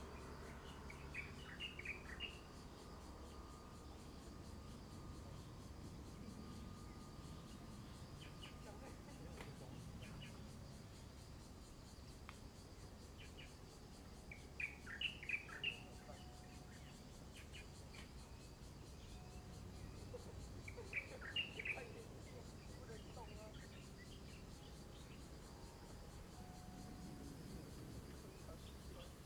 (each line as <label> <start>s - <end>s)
Birdsong 0.6s - 2.4s
Birdsong 14.3s - 18.2s
Birdsong 19.0s - 25.3s